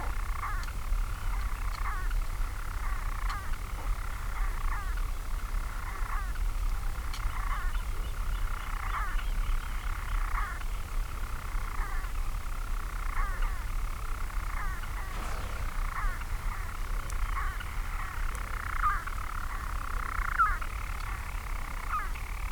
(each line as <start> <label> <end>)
14.4 storm petrel singing 19.4